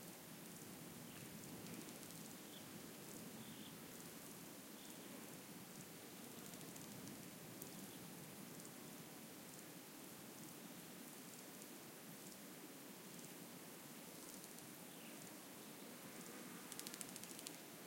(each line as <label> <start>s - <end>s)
different kind of crickets 0.5s - 8.8s
different kind of crickets 14.1s - 17.8s